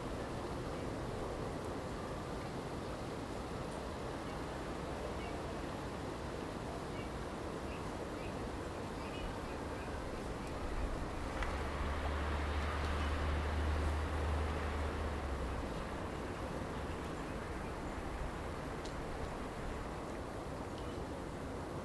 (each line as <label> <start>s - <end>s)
river 0.0s - 21.8s